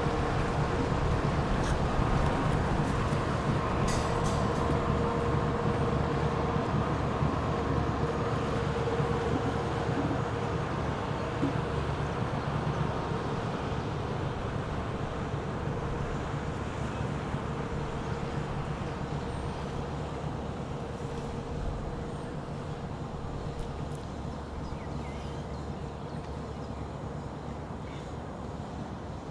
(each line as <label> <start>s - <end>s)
boat 0.0s - 29.3s